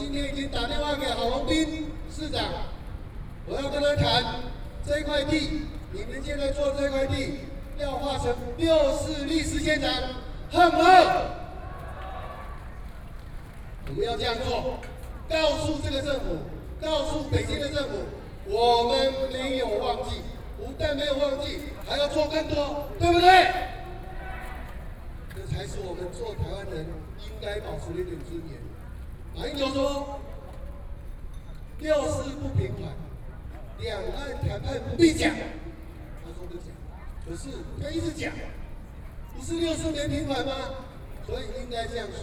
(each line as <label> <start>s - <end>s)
Speech 0.0s - 2.8s
Speech 3.5s - 12.2s
Speech 13.8s - 30.8s
Speech 31.8s - 42.2s